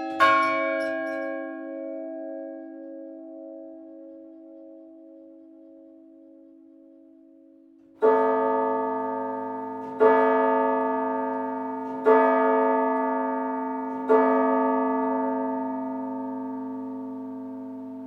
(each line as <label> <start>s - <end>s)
Carillon du beffroi de l'hôtel de ville 0.0s - 7.2s
Carillon du beffroi de l'hôtel de ville 8.0s - 18.0s